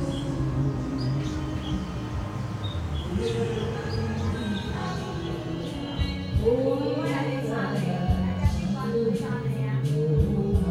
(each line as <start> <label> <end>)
0.0 Traffic Sound 6.5
0.0 Birds singing 7.8
0.0 Group of elderly people singing 10.7
0.0 karaoke 10.7